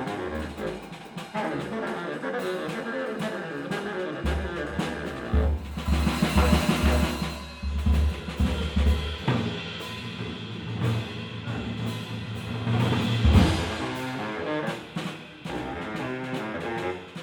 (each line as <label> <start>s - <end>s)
bass saxophone 0.0s - 7.2s
drums 0.0s - 17.2s
bass saxophone 13.4s - 17.2s